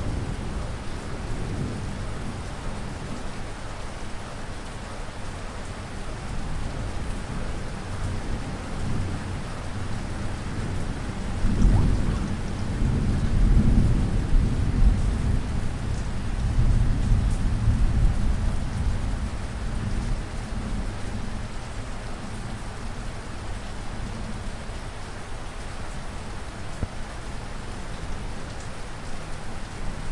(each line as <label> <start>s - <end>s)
Rain 0.0s - 30.1s
Thunder 11.4s - 15.5s